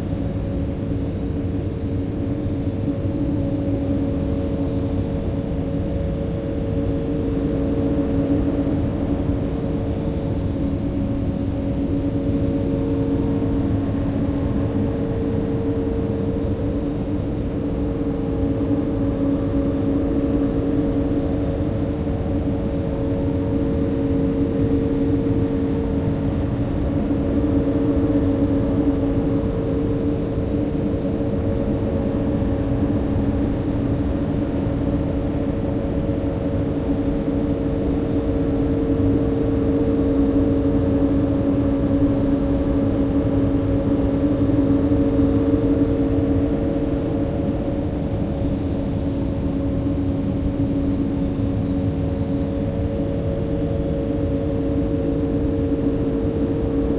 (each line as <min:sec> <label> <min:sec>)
0:00.0 Furnace air tone 0:56.9